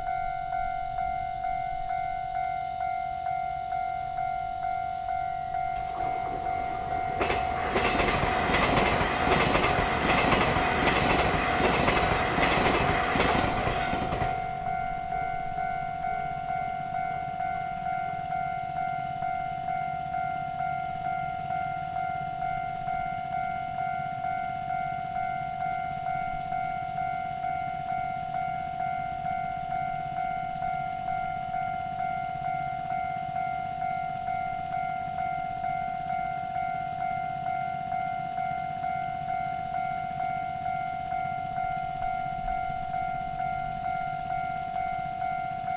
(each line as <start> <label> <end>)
0.0 The train runs through 45.7